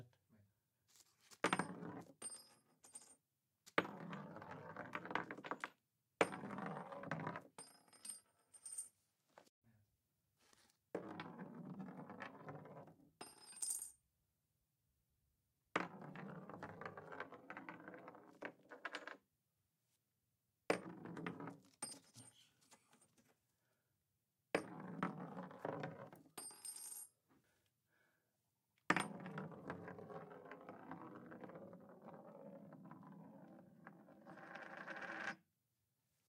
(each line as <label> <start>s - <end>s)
coin roll on wood 1.4s - 3.2s
coin roll on wood 3.8s - 8.9s
coin roll on wood 11.0s - 13.9s
coin roll on wood 15.8s - 19.2s
coin roll on wood 20.7s - 22.0s
coin roll on wood 24.6s - 27.1s
coin roll on wood 28.9s - 35.4s